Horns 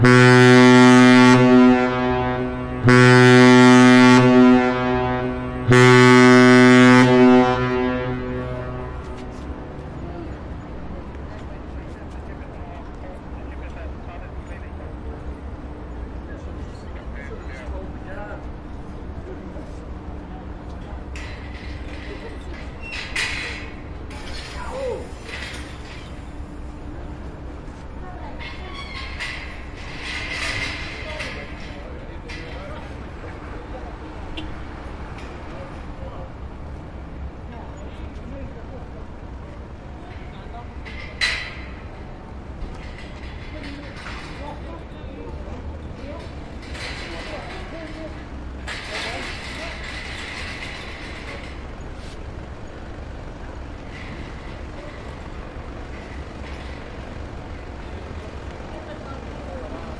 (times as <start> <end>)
0.0 9.6